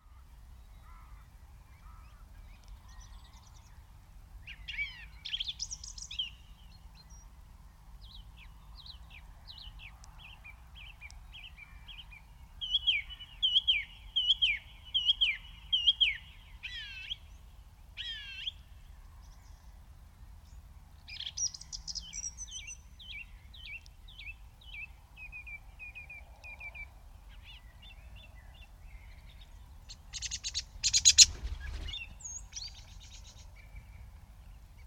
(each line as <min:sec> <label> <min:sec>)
0:00.0 skylarks 0:34.8
0:29.9 pheasants 0:34.1
0:30.1 Wood pigeons call 0:33.0
0:30.8 birds' flight and fluttering movement ruffling close to the microphones 0:33.2